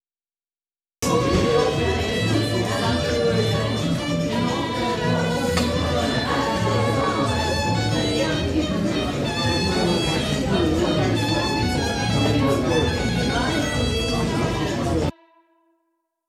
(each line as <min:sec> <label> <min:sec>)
0:01.0 violin 0:15.5